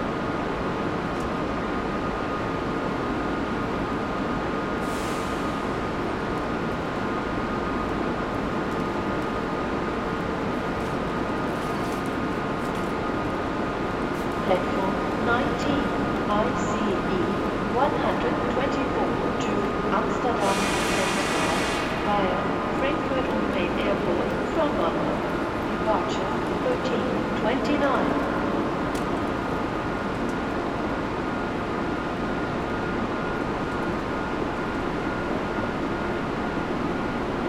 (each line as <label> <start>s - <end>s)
train is leaving 0.0s - 37.4s